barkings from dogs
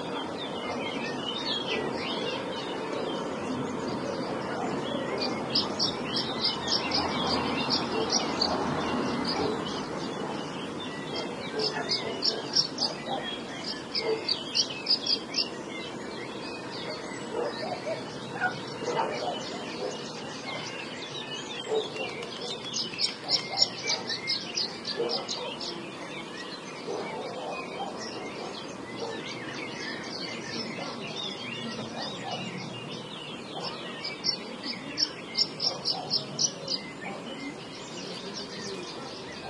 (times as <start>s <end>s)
11.2s 13.4s, 14.0s 14.4s, 16.8s 20.7s, 21.7s 22.6s, 23.2s 24.2s, 25.0s 25.8s, 26.8s 29.3s, 33.5s 33.8s